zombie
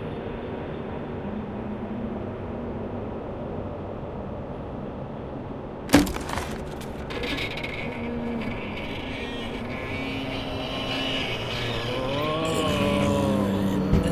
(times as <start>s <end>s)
5.9s 14.1s